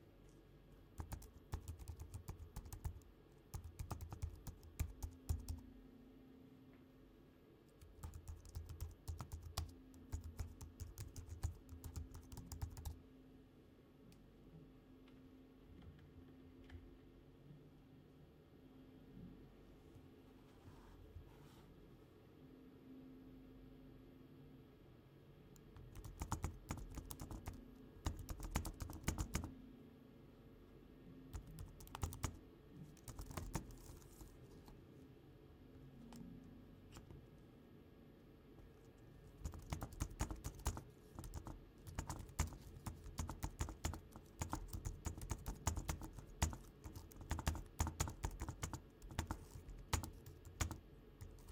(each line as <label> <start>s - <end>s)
Typing on a imac keyboard 1.0s - 5.6s
Typing on a imac keyboard 7.8s - 13.0s
Typing on a imac keyboard 25.8s - 29.5s
Typing on a imac keyboard 31.3s - 34.6s
Typing on a imac keyboard 39.3s - 51.5s